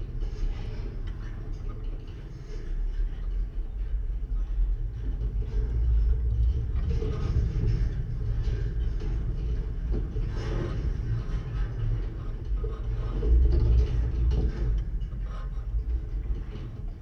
Singing/rumbling wire 0:00.0 - 0:17.0

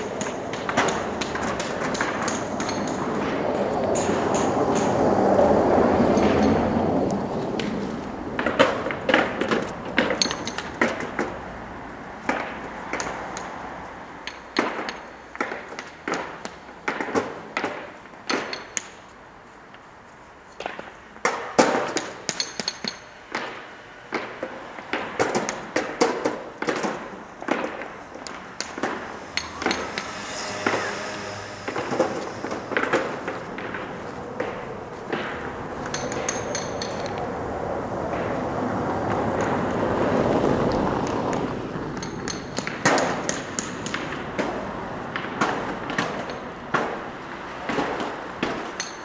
puts them on a barrow and unloads on the ground 0:20.5 - 0:30.9
puts them on a barrow and unloads on the ground 0:42.0 - 0:49.0

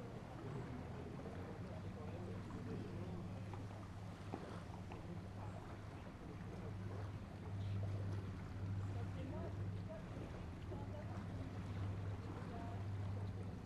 Yainville ferry is charging horses 0:00.0 - 0:13.6
boat noise 0:00.0 - 0:13.6

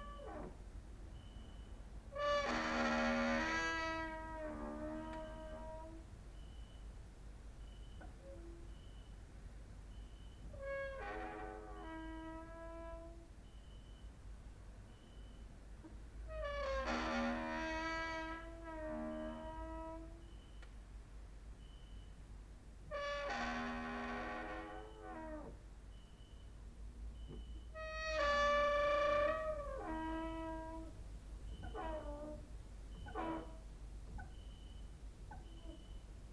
creaking with wooden doors 0:00.0 - 0:00.6
creaking with wooden doors 0:01.2 - 0:06.7
creaking with wooden doors 0:10.4 - 0:13.3
creaking with wooden doors 0:16.3 - 0:20.7
creaking with wooden doors 0:22.9 - 0:25.6
creaking with wooden doors 0:27.2 - 0:36.1

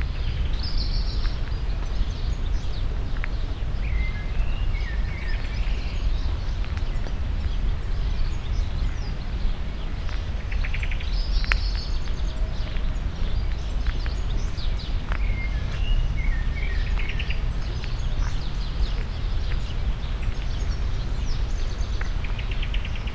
bikers 0:00.0 - 0:23.1
blackbirds 0:00.0 - 0:23.1
slow walk on sandy pathway 0:00.0 - 0:23.1

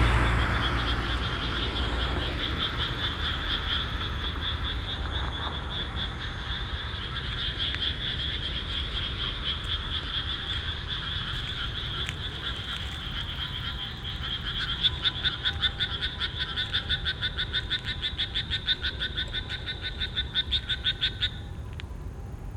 ambulance passing by 0:00.0 - 0:07.2
cars on the street 0:00.0 - 0:22.5
frogs in rice field 0:00.0 - 0:22.5
ambulance passing by 0:08.9 - 0:22.5

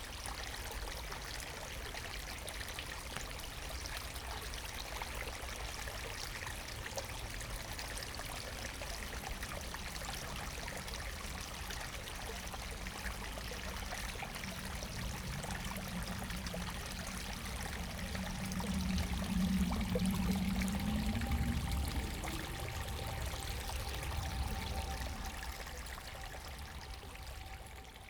water flow 0:07.1 - 0:28.0

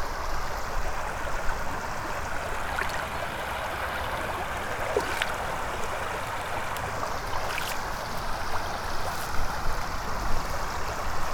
crossing the stream 0:00.4 - 0:11.3

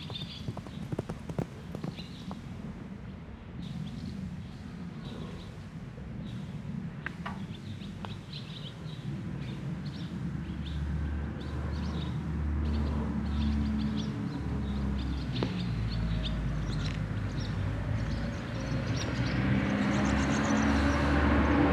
horse breathing and running in a paddock 0:00.0 - 0:02.6
bus passing by 0:10.5 - 0:21.7

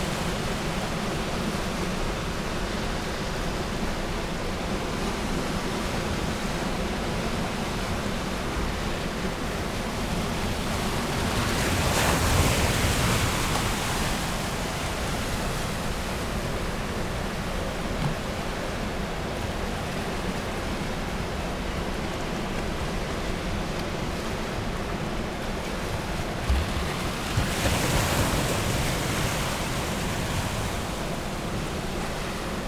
outgoing tide 0:00.0 - 0:32.6

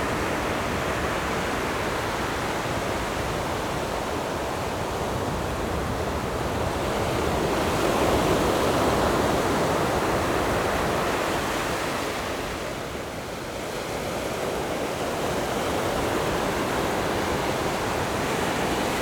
waves 0:00.0 - 0:19.0

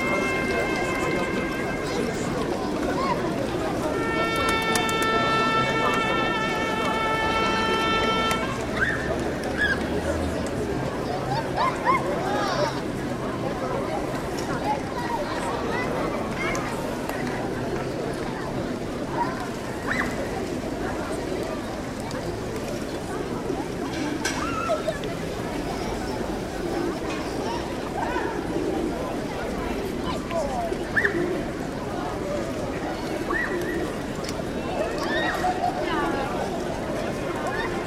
crowd’s rumor 0:00.0 - 0:37.8
trompet player blows 4 times 0:03.8 - 0:08.6

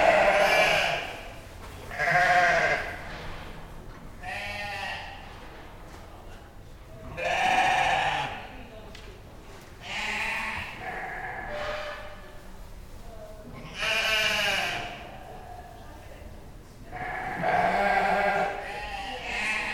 Sheep baaing 0:00.0 - 0:01.1
Sheep baaing 0:01.9 - 0:02.9
chatter of stall holders 0:05.8 - 0:19.7
Sheep baaing 0:07.2 - 0:08.4
Sheep baaing 0:17.0 - 0:19.7

